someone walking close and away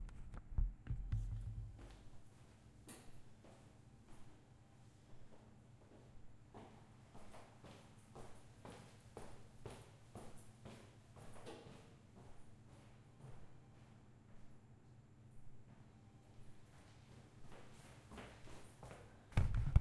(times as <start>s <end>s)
15.6s 19.8s